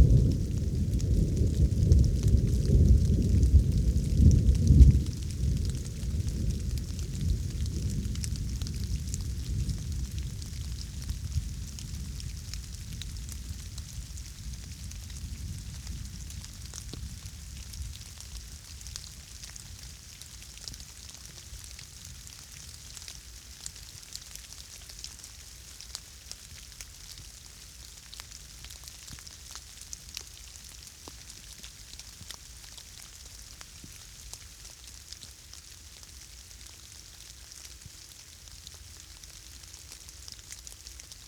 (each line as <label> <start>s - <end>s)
Thunderstorm 0.0s - 18.6s
light rain 0.0s - 41.2s